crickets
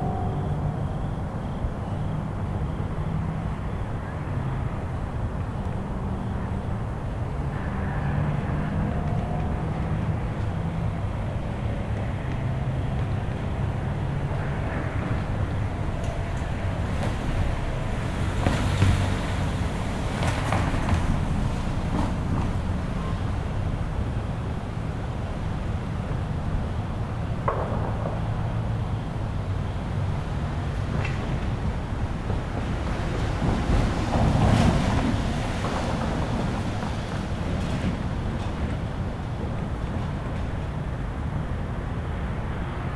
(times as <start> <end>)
0.0 22.1